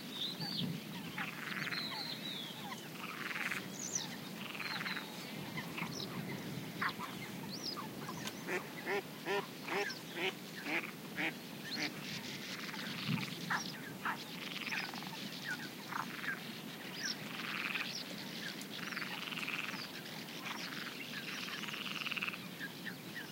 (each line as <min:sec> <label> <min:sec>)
0:01.1 frog calls 0:15.2
0:02.9 Mallard 0:03.6
0:08.0 Mallard 0:15.2
0:15.9 frog calls 0:16.4
0:17.1 frog calls 0:17.9
0:17.2 Mallard 0:17.9
0:18.8 frog calls 0:22.5
0:20.4 Mallard 0:22.4